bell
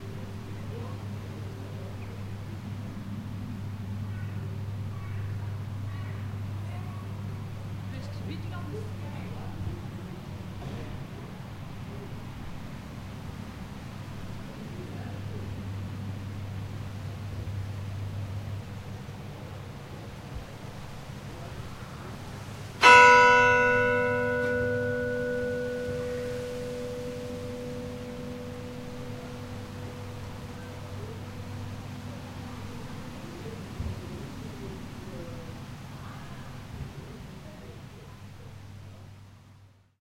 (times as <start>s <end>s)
22.8s 33.8s